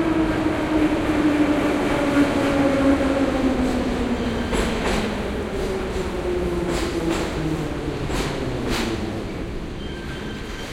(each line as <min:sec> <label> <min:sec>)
0:00.0 metro stopping 0:10.7